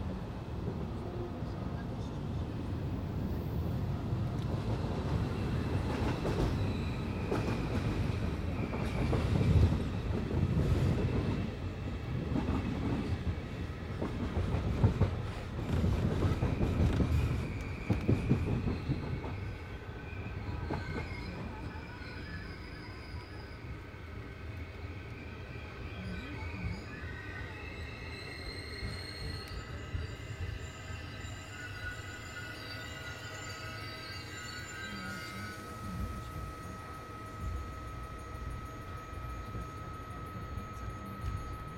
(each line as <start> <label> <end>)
0.0 riding the train 41.7